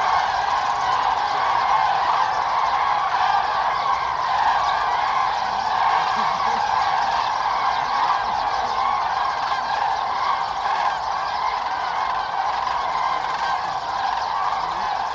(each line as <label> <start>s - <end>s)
Migrating cranes 0.0s - 15.1s
murmuring on phones or chatting 5.8s - 8.9s